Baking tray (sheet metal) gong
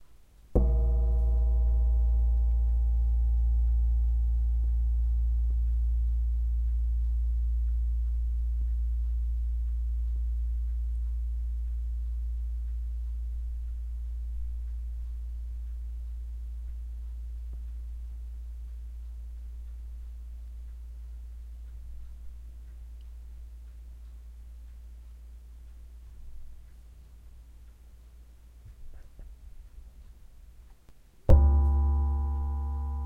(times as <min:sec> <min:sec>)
0:00.6 0:09.7, 0:31.3 0:33.0